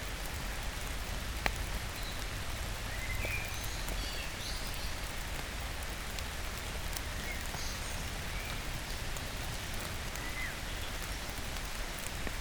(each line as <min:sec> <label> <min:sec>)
0:00.0 Rain 0:12.4
0:00.0 Trees trickle on the ivy 0:12.4